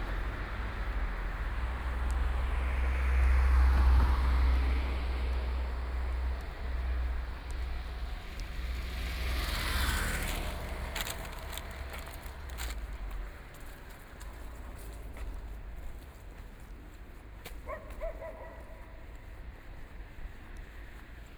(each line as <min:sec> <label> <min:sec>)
0:00.0 Traffic Sound 0:21.3
0:17.6 Dogs barking 0:19.1